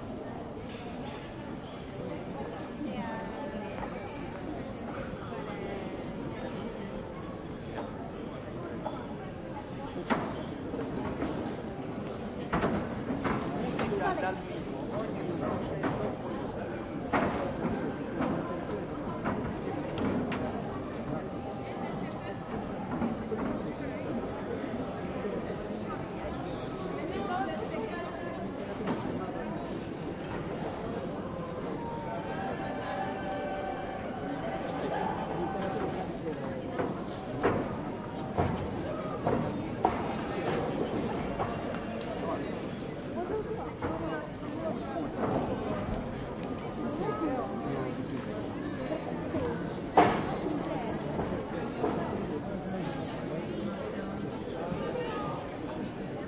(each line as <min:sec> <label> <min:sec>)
0:00.0 tourists from all nations sitting and drinking coffee 0:56.2